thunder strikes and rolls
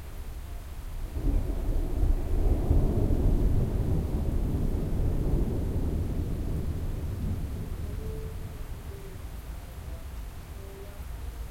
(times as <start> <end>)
1.1 9.3